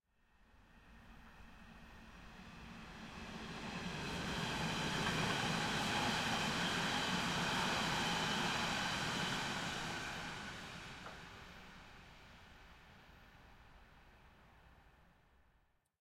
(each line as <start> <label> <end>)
0.5 S-Bahn Train passing close 14.8